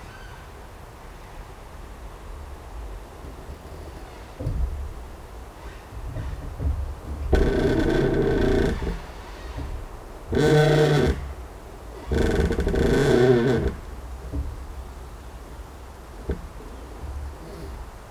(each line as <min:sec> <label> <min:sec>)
0:04.4 Creaking tree 0:18.1